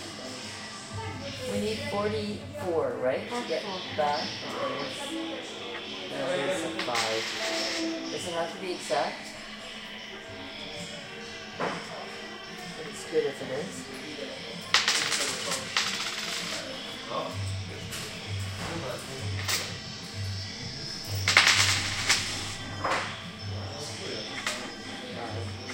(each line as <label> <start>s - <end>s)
music 0.0s - 25.7s
slotmachines 6.2s - 8.9s
slotmachines 14.7s - 16.9s
slotmachines 20.9s - 22.7s